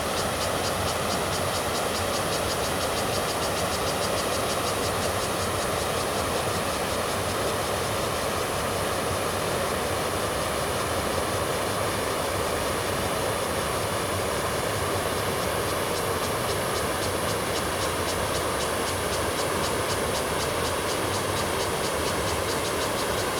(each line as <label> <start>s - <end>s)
cicadas 0.0s - 23.3s
stream 0.0s - 23.3s